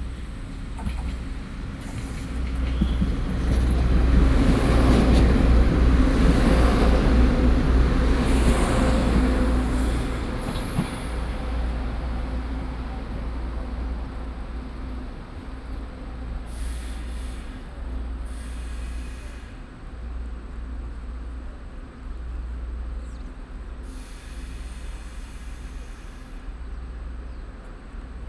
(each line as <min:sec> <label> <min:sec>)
0:00.0 Train arrival 0:28.2